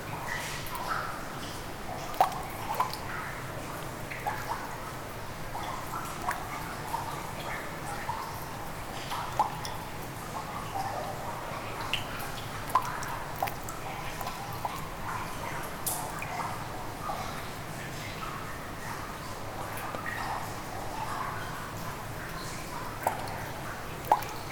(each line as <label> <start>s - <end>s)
drops in a puddle 2.0s - 3.0s
water spilled in the slope 21.7s - 24.5s
drops in a puddle 22.3s - 24.5s